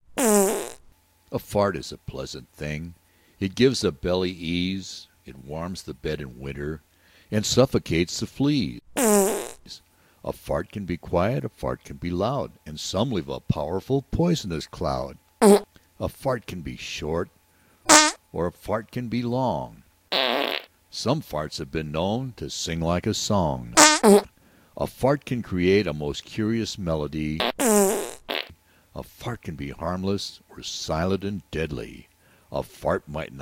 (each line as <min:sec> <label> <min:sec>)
0:00.2 farts 0:00.8
0:09.0 farts 0:09.6
0:15.4 farts 0:15.7
0:17.9 farts 0:18.2
0:20.1 farts 0:20.7
0:23.8 farts 0:24.3
0:27.4 farts 0:28.6